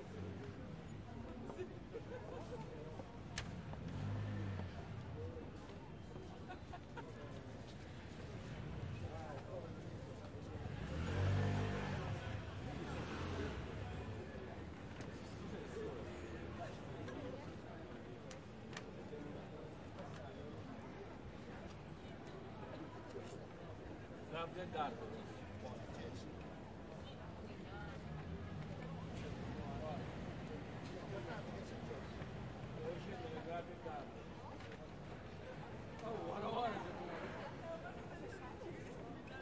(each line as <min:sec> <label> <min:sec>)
0:00.0 pedestrians 0:39.4